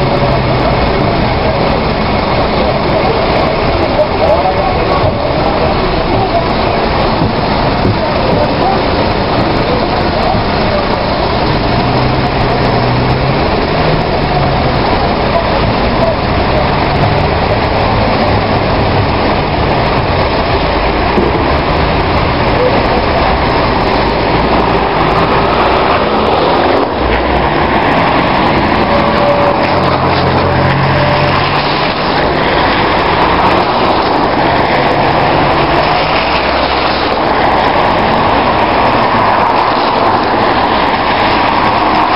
Buses 0:00.0 - 0:42.1
Lorries 0:00.0 - 0:42.1
Trains 0:00.0 - 0:42.1
heavy traffic driving past my car 0:00.0 - 0:42.1

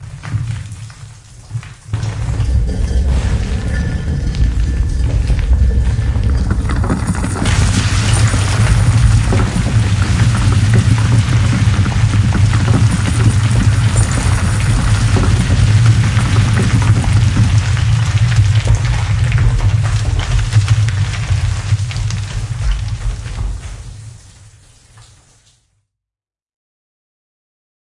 temple door crushing to the the ground 0:00.0 - 0:25.1
Rocks Falling 0:00.0 - 0:25.5

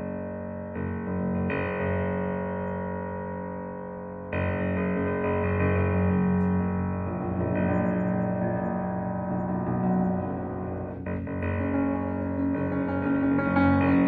upright piano 0:06.5 - 0:14.0

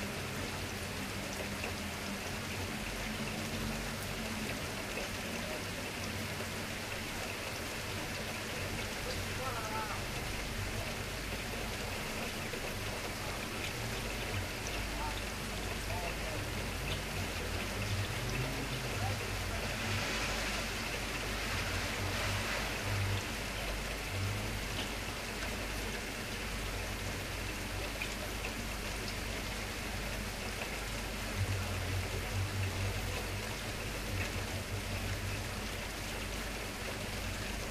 rain hitting window 0:00.0 - 0:37.7
cars going past 0:16.4 - 0:25.6

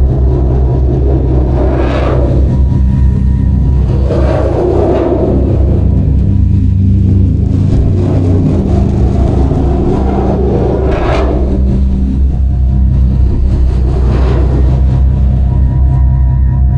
machines are working day and night 0:00.0 - 0:16.7
synth 0:00.0 - 0:16.7

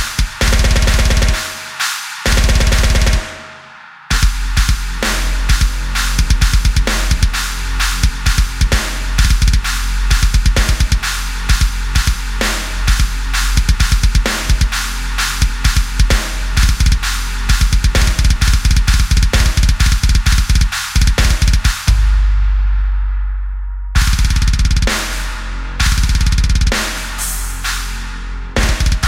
drum loop 0:00.0 - 0:22.2
drum loop 0:24.0 - 0:27.1
drum loop 0:28.6 - 0:29.0

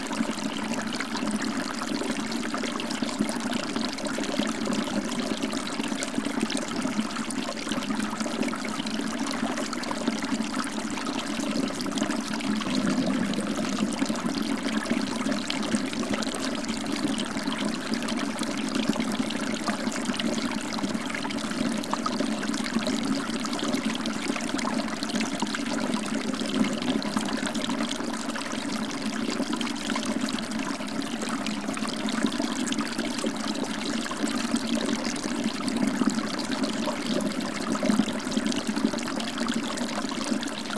small stream 0:00.0 - 0:40.7

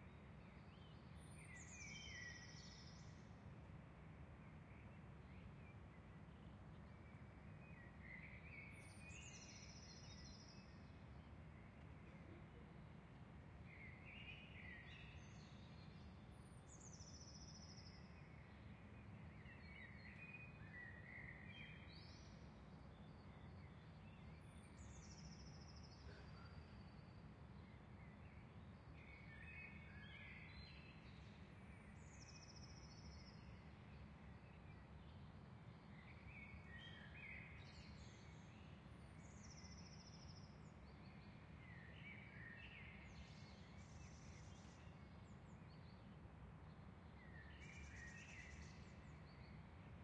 birdsong 0:47.1 - 0:49.7

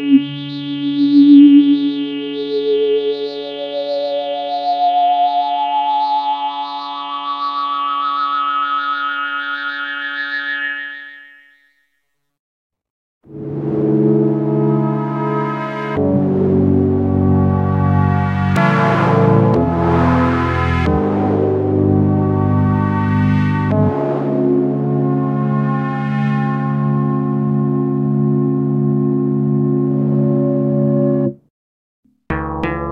Synth 0:00.0 - 0:11.6
Synth 0:13.3 - 0:31.4

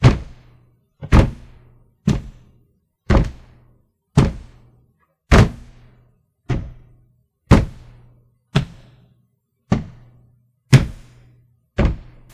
foot stomps 0:00.0 - 0:02.5
foot stomps 0:03.1 - 0:04.7
foot stomps 0:05.3 - 0:05.8
foot stomps 0:06.5 - 0:09.0
foot stomps 0:09.7 - 0:11.2
foot stomps 0:11.8 - 0:12.3

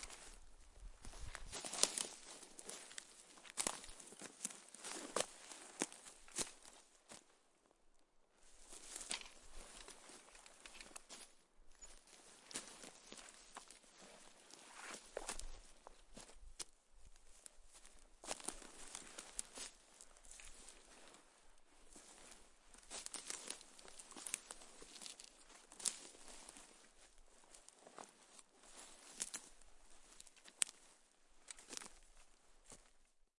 rustle 0:00.0 - 0:06.7
rustle 0:21.9 - 0:32.0

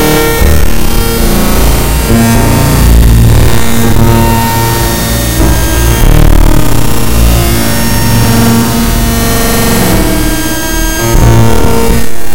extreme noise 0:00.0 - 0:12.3

